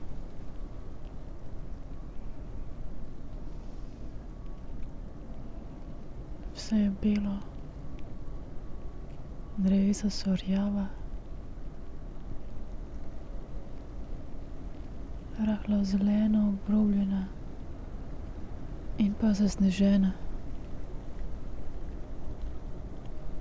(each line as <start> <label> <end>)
0.0 snow 23.4
0.0 wind 23.4